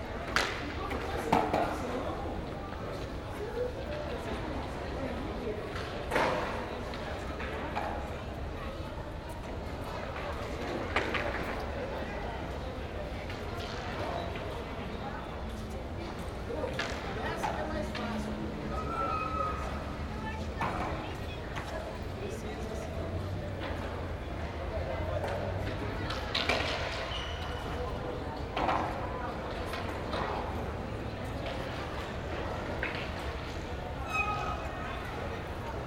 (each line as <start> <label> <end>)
0.0 skaters under concrete roof with concrete floor 35.8